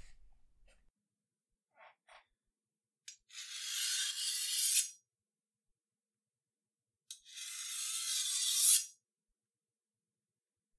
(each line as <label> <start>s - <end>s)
Sharpening Knife Menacingly 3.3s - 5.0s
Sharpening Knife Menacingly 7.3s - 9.0s